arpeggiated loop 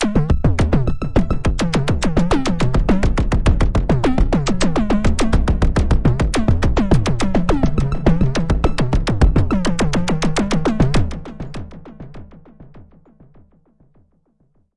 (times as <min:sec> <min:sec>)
0:00.0 0:11.5